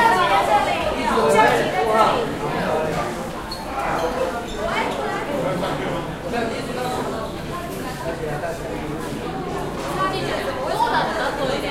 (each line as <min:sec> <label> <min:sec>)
0:00.0 People talking 0:11.7